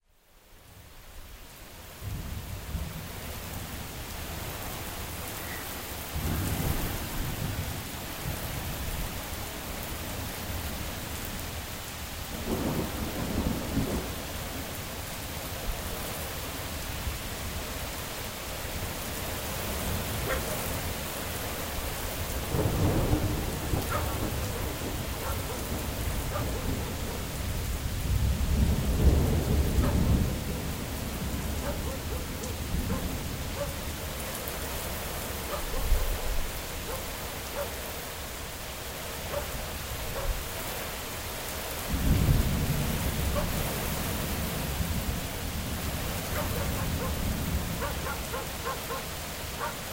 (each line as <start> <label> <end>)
0.0 rain 49.9
0.0 wind 49.9
12.4 thunder 14.6
20.2 dog 20.7
22.5 thunder 33.0
23.8 dog 24.2
25.2 dog 25.7
26.3 dog 27.2
31.6 dog 32.3
32.9 dog 33.8
35.5 dog 37.8
39.3 dog 40.4
41.9 thunder 43.4
43.3 dog 43.6
46.3 dog 47.2
47.8 dog 49.8